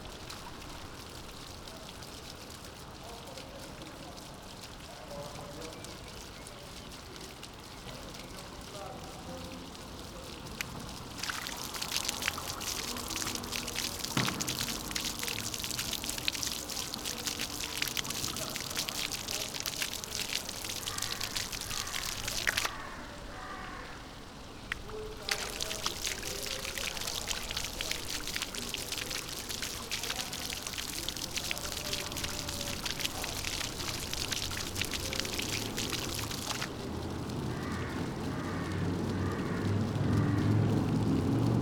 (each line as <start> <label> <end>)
0.0 Intermittent fountain 41.6